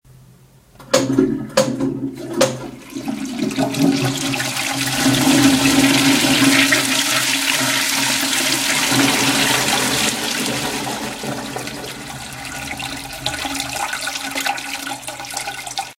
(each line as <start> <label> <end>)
0.8 toilet flushing device 15.9